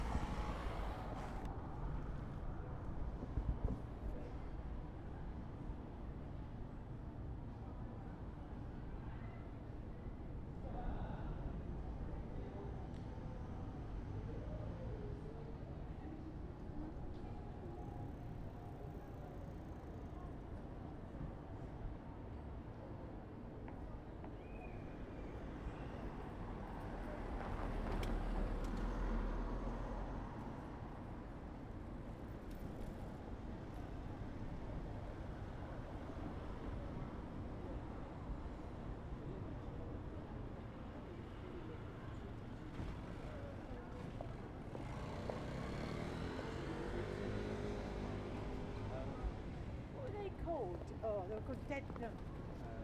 Passing cars 0:00.0 - 0:02.2
Passing cars 0:44.5 - 0:50.3

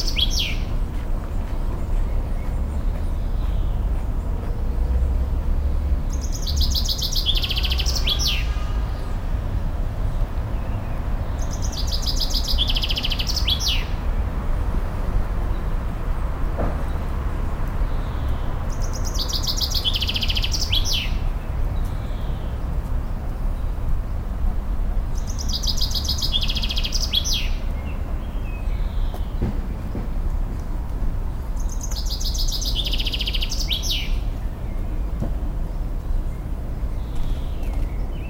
morning bird 0:06.1 - 0:08.7

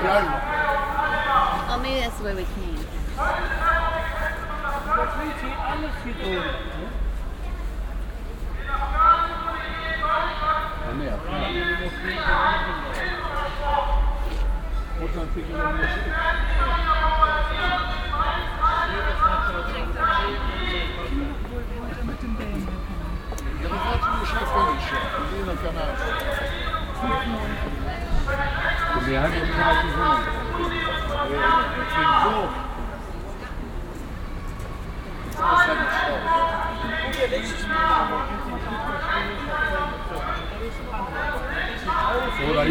konversationen wartender taxifahrer 0:00.0 - 0:34.4
konversationen wartender taxifahrer 0:35.2 - 0:42.7

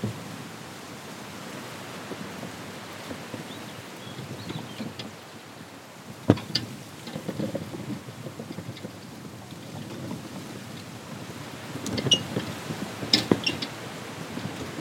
wind in the vegetation 0:00.0 - 0:14.8
old metal signpost 0:06.1 - 0:14.8

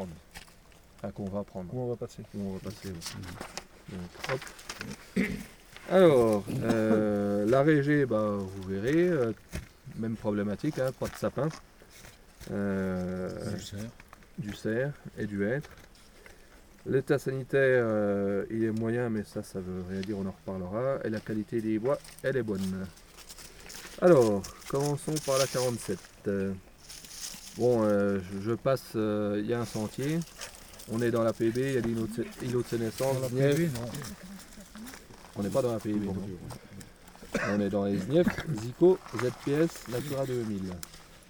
Consigne 0:12.4 - 0:41.0

